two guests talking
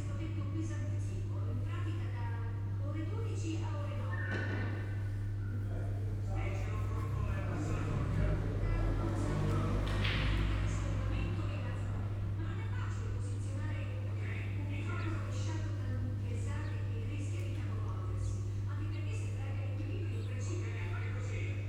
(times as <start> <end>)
5.3 21.6